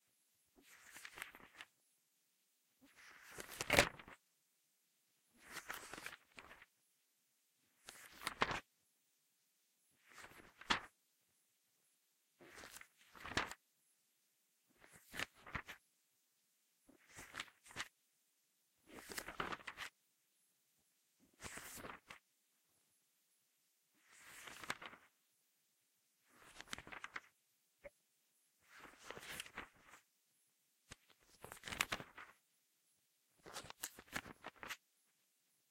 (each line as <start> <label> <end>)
0.6 Turning book pages 1.8
2.8 Turning book pages 4.2
5.3 Turning book pages 6.7
7.6 Turning book pages 8.7
10.0 Turning book pages 11.0
12.4 Turning book pages 13.6
14.7 Turning book pages 15.8
16.9 Turning book pages 18.0
18.8 Turning book pages 20.0
21.2 Turning book pages 22.2
24.0 Turning book pages 25.2
26.2 Turning book pages 28.0
28.6 Turning book pages 30.1
30.8 Turning book pages 32.4
33.4 Turning book pages 34.9